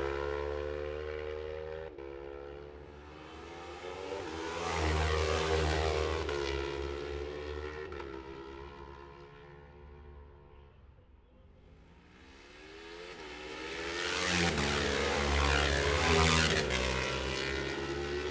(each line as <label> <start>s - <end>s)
road racing 0.0s - 10.5s
road racing 12.0s - 18.3s